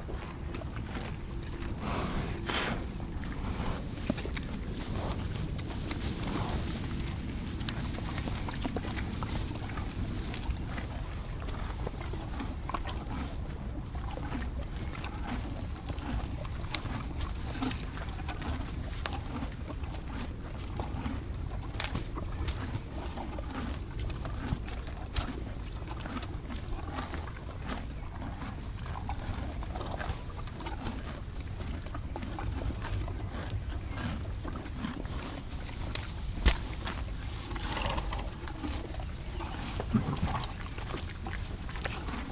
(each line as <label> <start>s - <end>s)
Horses eating 0.0s - 42.3s
studhorse sniffs me 0.8s - 13.4s